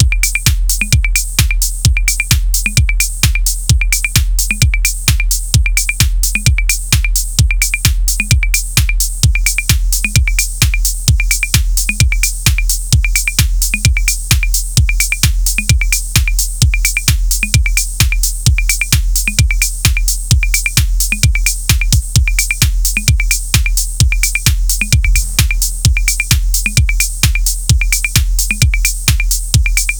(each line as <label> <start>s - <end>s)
simple techno beat variation 0.0s - 29.9s